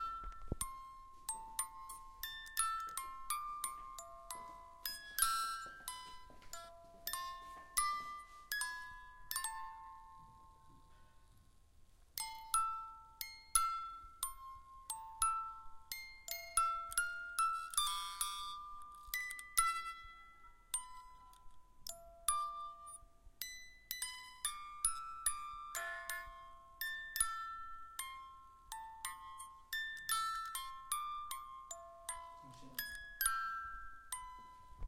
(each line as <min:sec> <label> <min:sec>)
0:00.0 Song of an old alarm for babies 0:11.1